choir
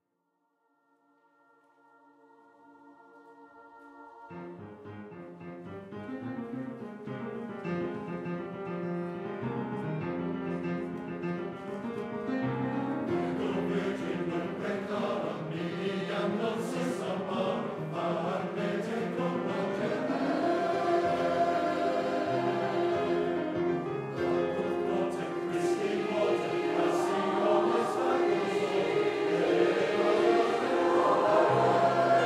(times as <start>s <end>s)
1.4s 5.4s, 12.3s 32.2s